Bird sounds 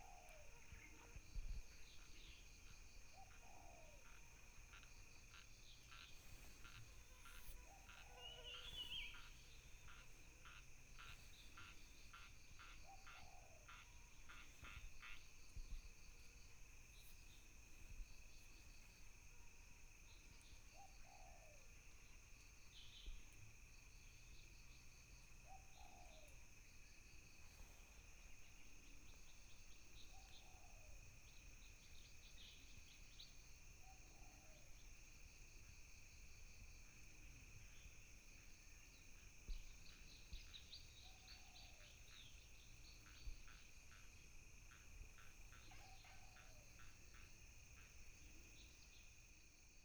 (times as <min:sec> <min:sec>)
0:03.2 0:15.3